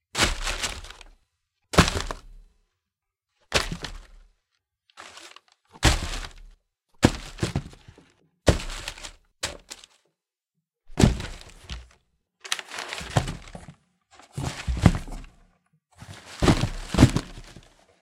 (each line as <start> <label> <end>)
0.1 throwing objects into a box roughly 1.1
1.8 throwing objects into a box roughly 2.4
3.5 throwing objects into a box roughly 4.2
5.0 throwing objects into a box roughly 9.9
10.9 throwing objects into a box roughly 17.9